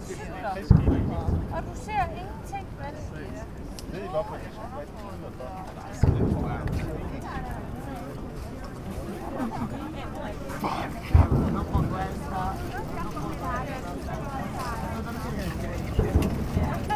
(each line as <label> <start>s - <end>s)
Tourists and locals pass by on new sliding bridge 0.0s - 16.9s
tourist boat 0.0s - 16.9s